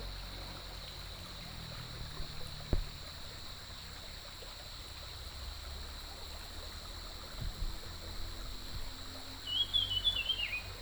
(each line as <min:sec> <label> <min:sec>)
0:00.0 water streams 0:10.8
0:09.4 Bird calls 0:10.8